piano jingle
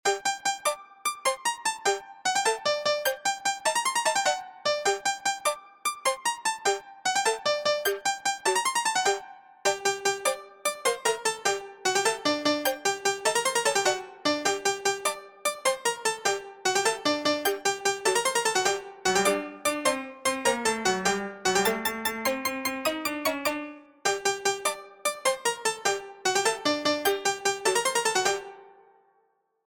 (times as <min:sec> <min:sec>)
0:18.1 0:25.2